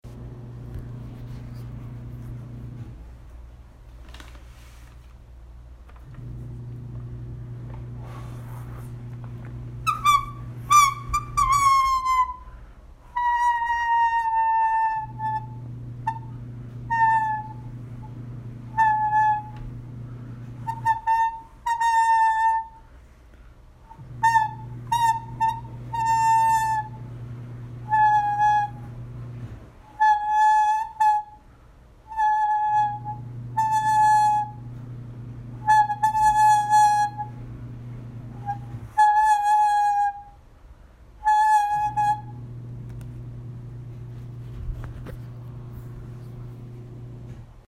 9.8s Homemade paper whistle 23.0s
23.9s Homemade paper whistle 27.2s
27.8s Homemade paper whistle 29.0s
29.8s Homemade paper whistle 34.8s
35.6s Homemade paper whistle 37.4s
38.3s Homemade paper whistle 40.4s
41.2s Homemade paper whistle 42.5s

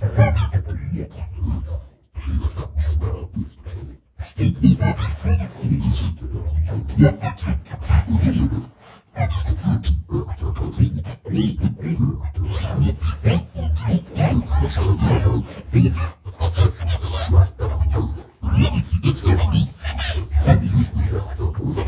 0.0s demonic french voice 21.8s

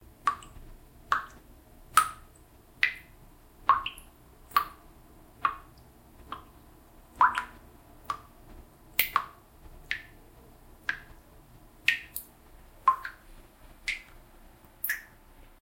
12.9s water drop 13.2s
13.9s water drop 14.2s
14.8s water drop 15.2s

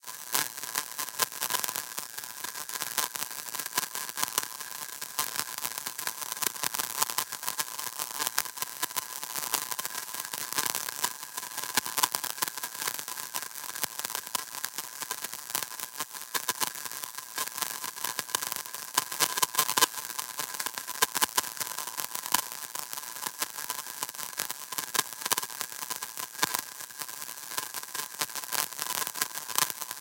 0.0s Broken Record Crisp 30.0s

